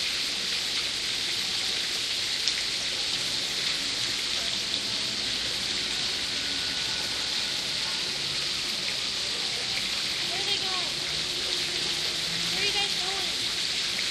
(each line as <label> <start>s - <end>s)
waterfalls of a fountain 0.0s - 14.1s